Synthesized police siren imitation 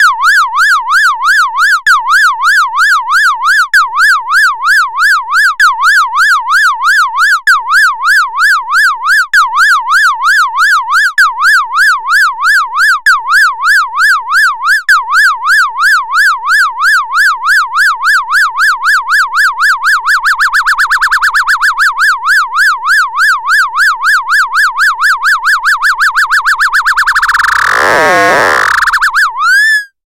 0.0s 4.8s, 12.1s 30.0s

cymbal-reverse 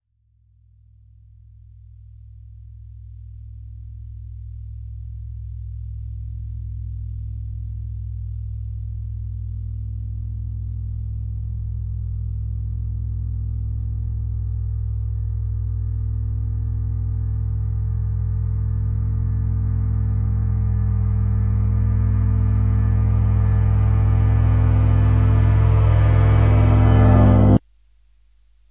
10.4s 27.6s

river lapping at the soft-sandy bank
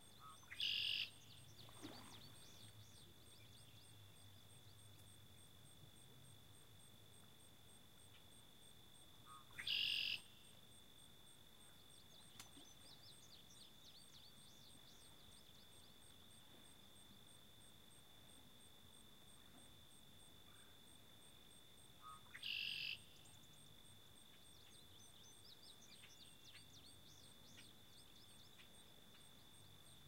0.2s 5.2s

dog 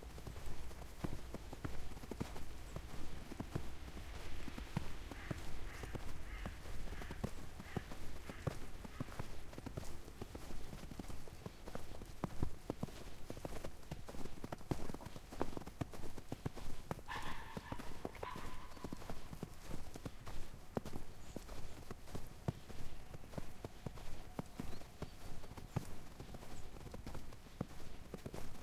17.1s 19.2s

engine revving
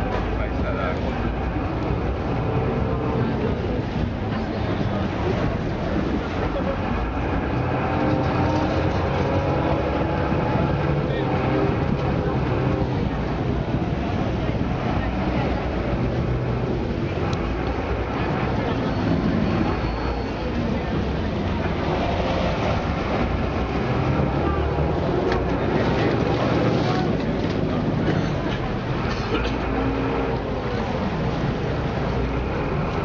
7.0s 14.0s

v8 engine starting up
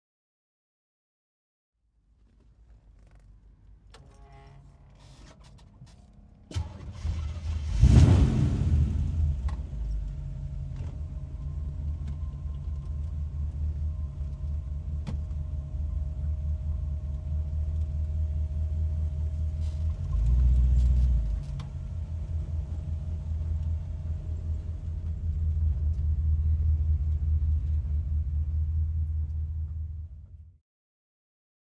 5.0s 15.6s

